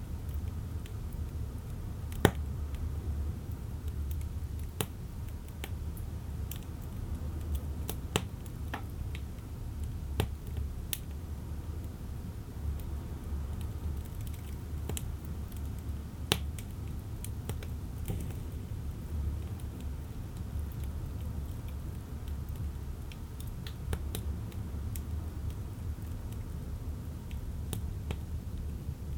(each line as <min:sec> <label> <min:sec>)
0:00.2 stove 0:29.1